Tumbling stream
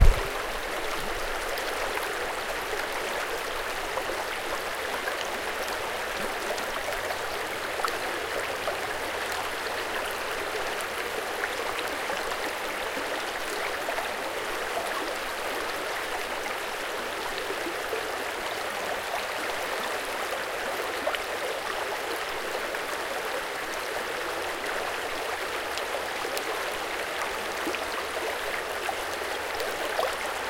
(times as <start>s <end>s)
0.0s 10.0s